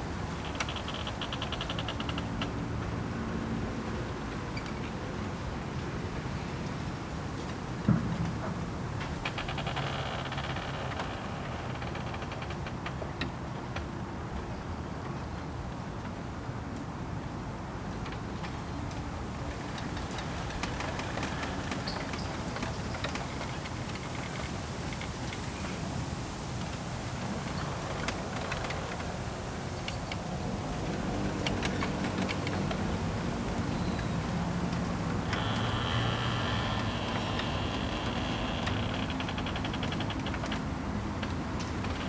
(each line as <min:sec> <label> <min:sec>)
0:19.6 Bamboo forest 0:40.6
0:25.9 Traffic Sound 0:42.0